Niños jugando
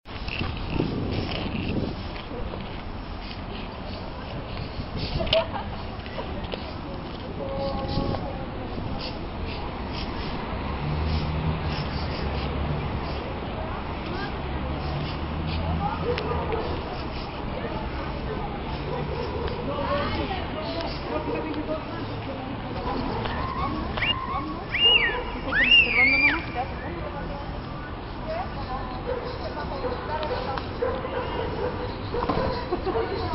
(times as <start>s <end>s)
22.6s 27.2s